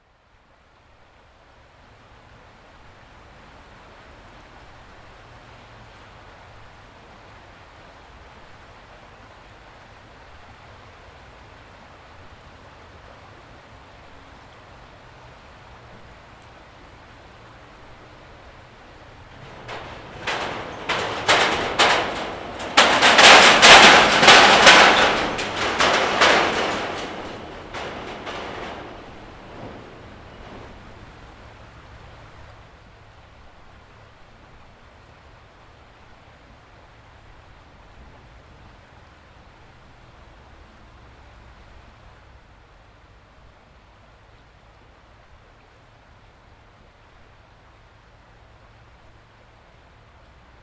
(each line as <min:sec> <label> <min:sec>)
0:00.0 cars pass occasionally over the nearby metal bridge 0:50.6
0:00.0 river 0:50.6